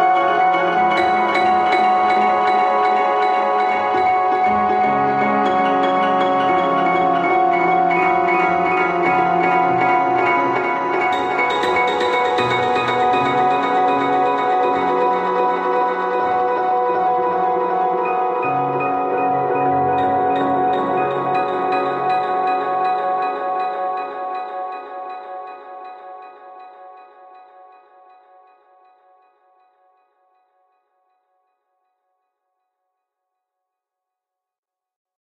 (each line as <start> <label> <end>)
0.0 Glitched Piano 25.7